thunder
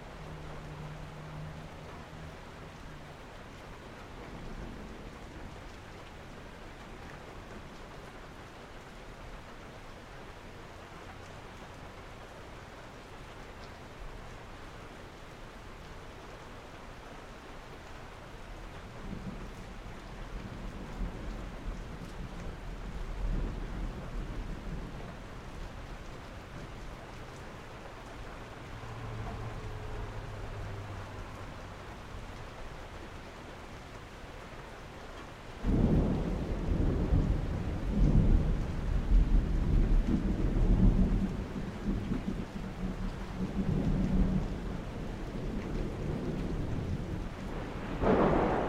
35.6s 44.4s, 45.8s 48.6s

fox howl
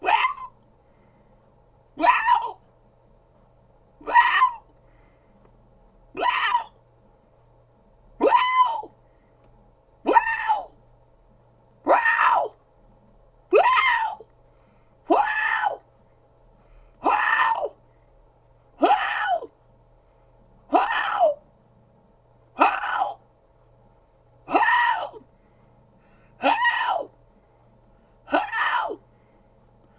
0.0s 0.5s, 2.0s 2.6s, 4.0s 4.6s, 8.2s 8.9s, 11.9s 12.6s, 26.4s 27.1s, 28.3s 29.0s

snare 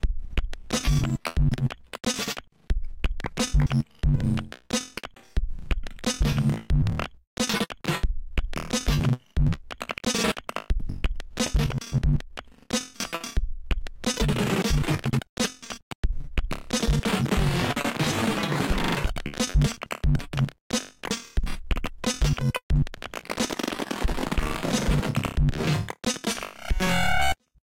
0.7s 1.1s, 2.0s 2.4s, 3.2s 3.8s, 4.8s 5.2s, 12.7s 13.1s

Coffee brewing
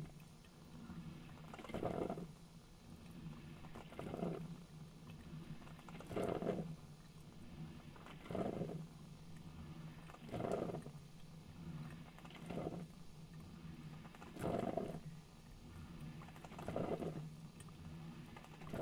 1.3s 2.3s, 3.5s 8.8s, 9.9s 11.0s, 12.1s 12.9s, 14.1s 15.6s, 16.2s 18.8s

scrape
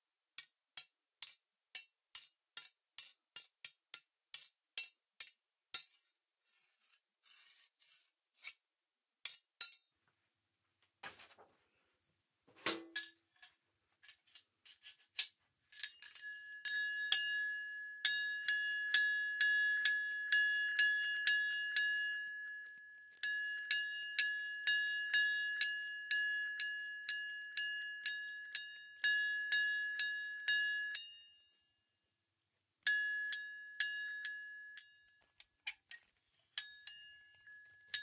5.8s 8.6s, 11.0s 11.5s, 14.0s 16.6s, 35.3s 38.0s

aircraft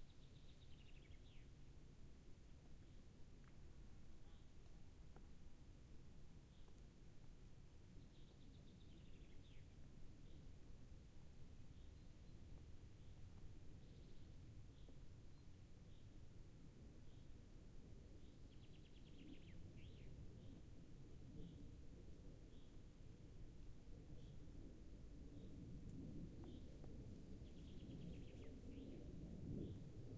16.5s 30.1s

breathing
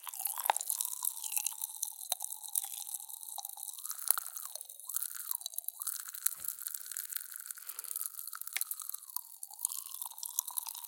7.5s 8.2s

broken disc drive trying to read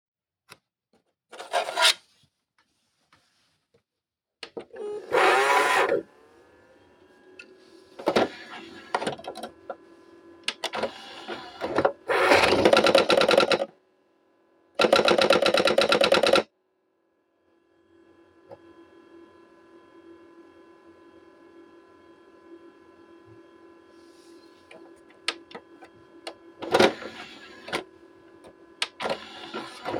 26.6s 27.9s

